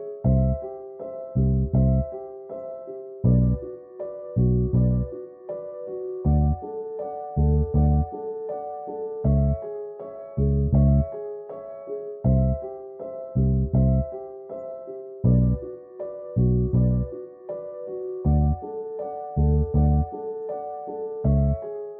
0.0s piano 21.9s
0.2s bass 2.2s
3.2s bass 3.7s
4.3s bass 5.2s
6.2s bass 6.6s
7.3s bass 8.1s
9.2s bass 9.7s
10.3s bass 11.2s
12.2s bass 12.7s
13.3s bass 14.2s
15.2s bass 15.7s
16.3s bass 17.2s
18.2s bass 18.7s
19.3s bass 20.2s
21.2s bass 21.7s

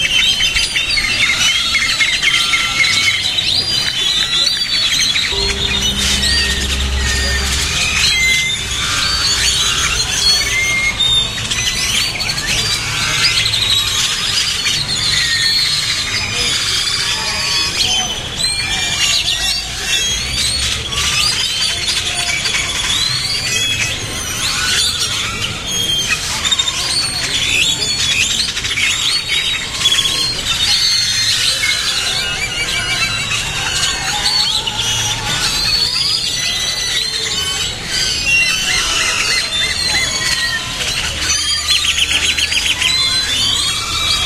35.3s gathering of uncountable birds in one tree 44.2s

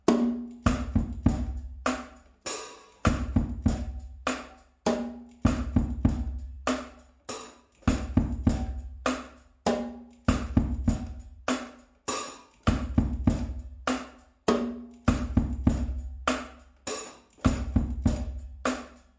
0.0s Drum pattern 19.0s

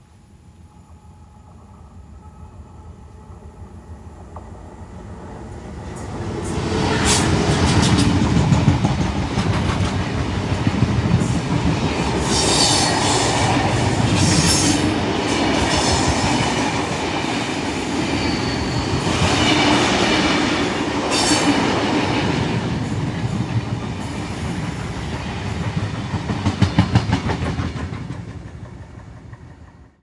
0.0s train passing 30.0s

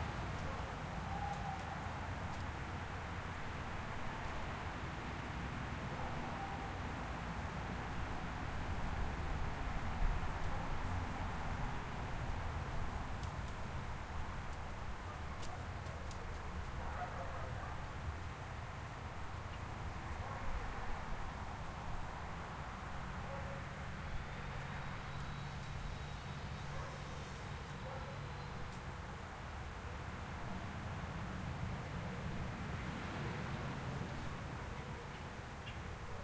0.0s Light traffic 36.2s

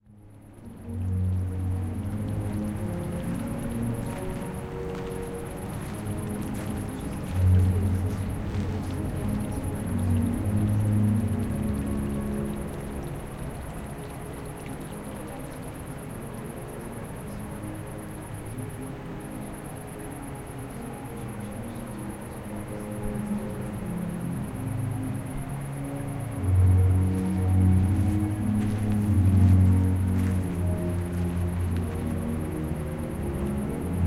0.0s Music playing in background 34.0s

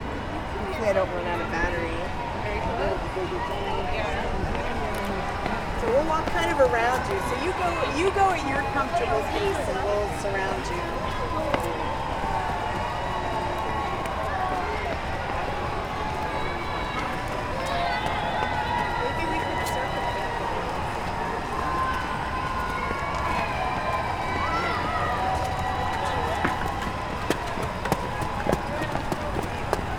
0.0s Crowds cheering 29.9s
0.0s muffled talking 29.9s

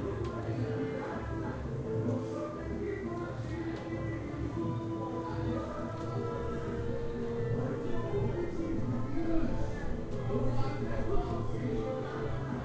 0.0s brazilian music was playing 12.6s
0.0s people talking 12.6s
0.0s singing 12.6s

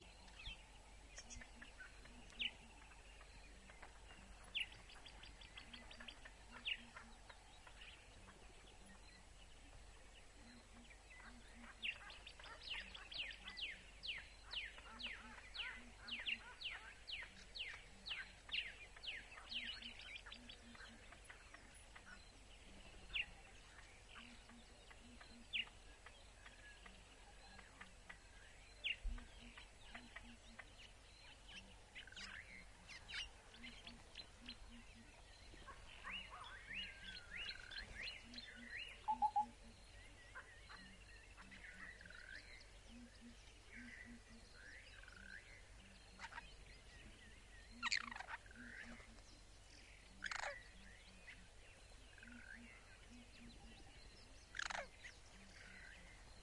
0.0s birds 56.4s

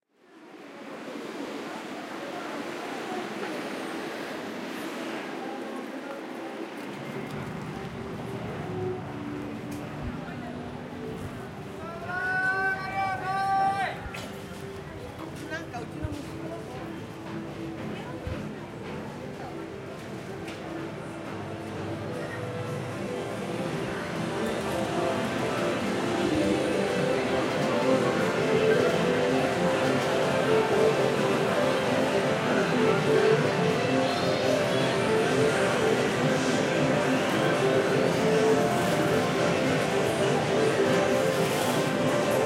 0.1s crowd 42.4s

